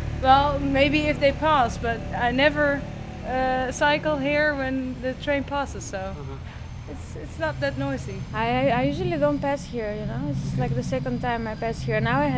Interviews 0:00.0 - 0:12.3

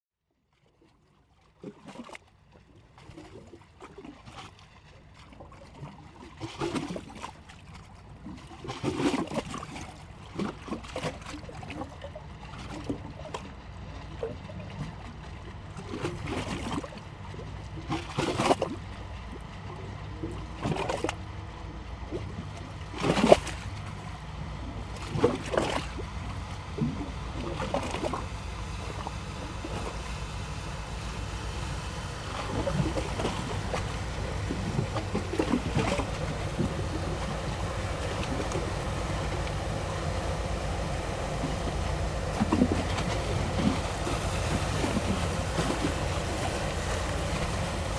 Two boats are going through the canal 0:00.4 - 0:47.9
waves 0:00.4 - 0:47.9

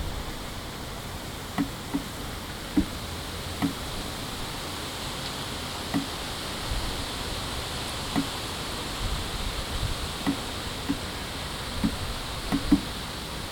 Rain25082015LCG 0:00.0 - 0:13.5

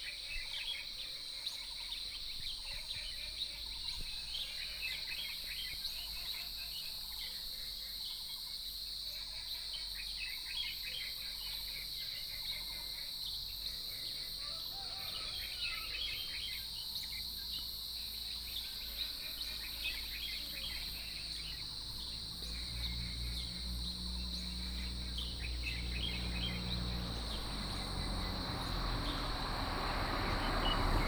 Frogs chirping 0:03.4 - 0:31.0
Birdsong 0:13.2 - 0:31.0

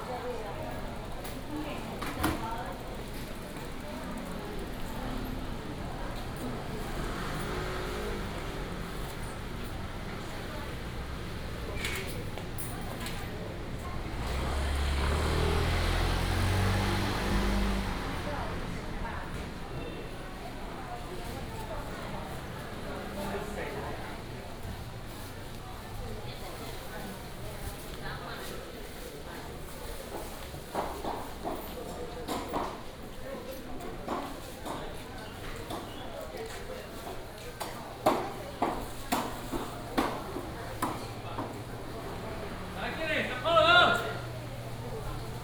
Traffic sound 0:00.0 - 0:45.4

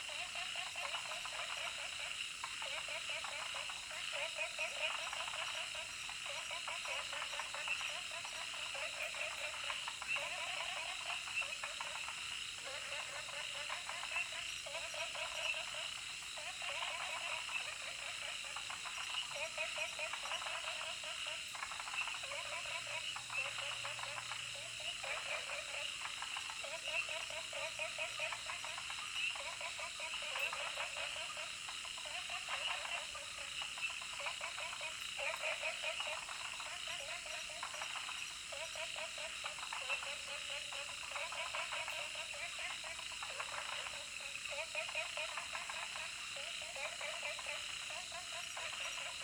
Frogs chirping 0:00.0 - 0:49.2
Insects called 0:00.0 - 0:49.2

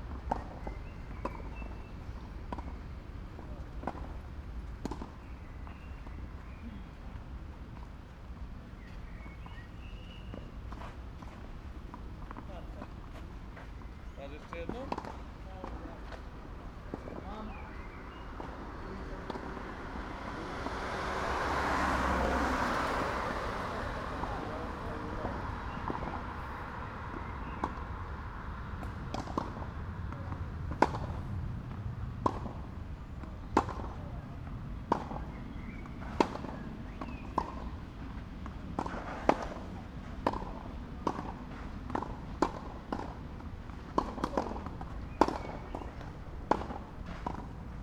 tennis ball pop right left right 0:16.9 - 0:21.2

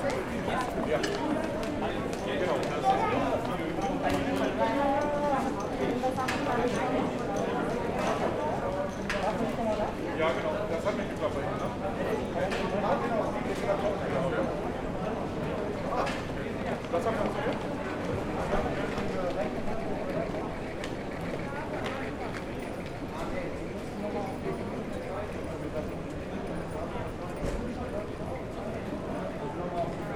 other travellers are discussing in chinese and other languages 0:00.0 - 0:30.1

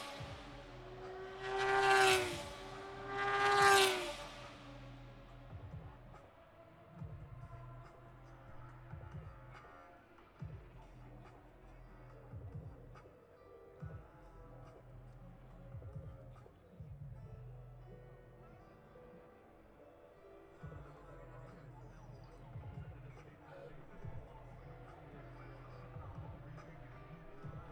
moto two 0:00.0 - 0:06.2

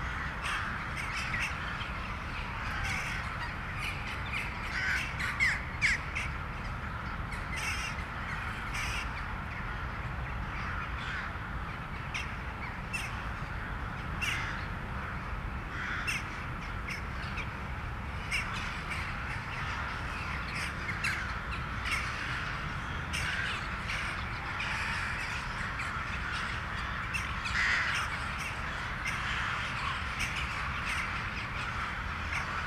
thousands of crows woke up to move 0:00.0 - 0:32.6

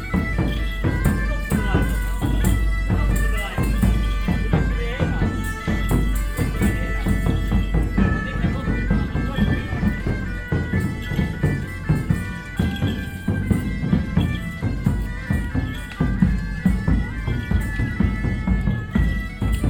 musical procession 0:00.0 - 0:19.6
street talk of two village residents 0:00.0 - 0:19.6

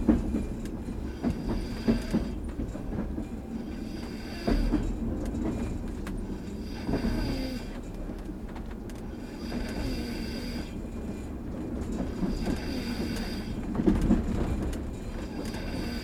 train 0:00.0 - 0:16.0

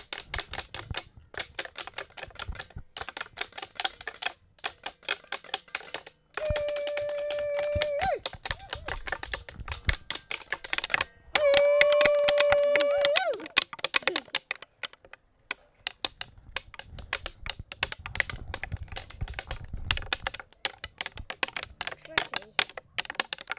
drumming in a nature band with twigs and branches on tree stumps 0:00.0 - 0:23.5

